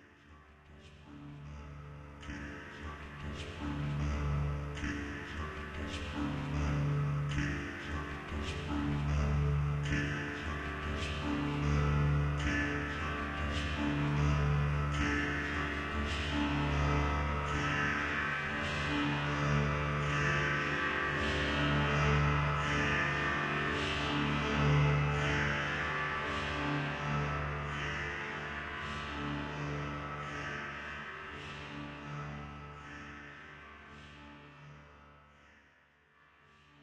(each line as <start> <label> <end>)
1.4 voice 25.8